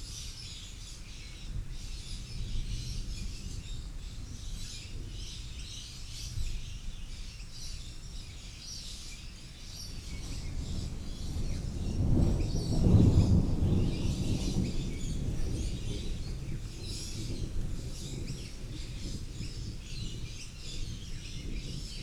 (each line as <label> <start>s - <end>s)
storm brewing 10.0s - 22.0s